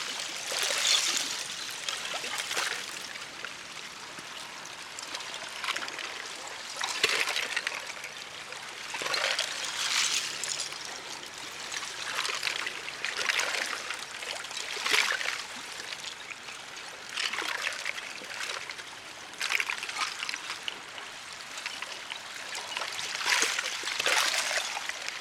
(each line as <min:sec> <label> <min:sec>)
0:00.0 Ice pieces clinking on gentle waves 0:03.0
0:09.0 Ice pieces clinking on gentle waves 0:13.9
0:21.6 Ice pieces clinking on gentle waves 0:25.2